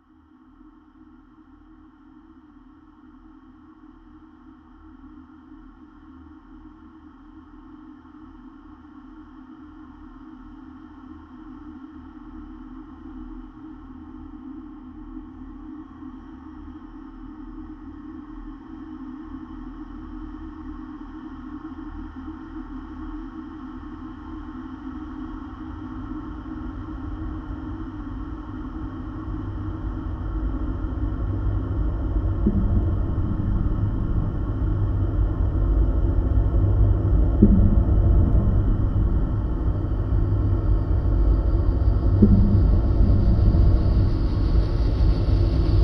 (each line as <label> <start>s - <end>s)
freq-modulated sines 25.6s - 45.8s
whitenoise 25.8s - 45.8s
pulses 27.8s - 45.8s